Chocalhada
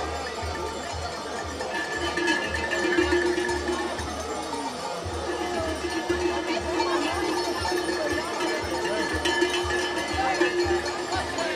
5.1 11.5

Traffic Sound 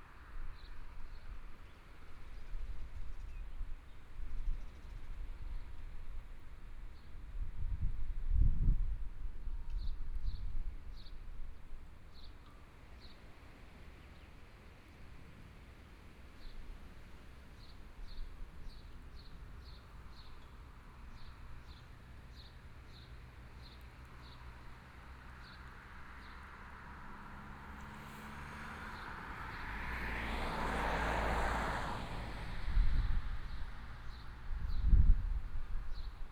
24.4 35.6

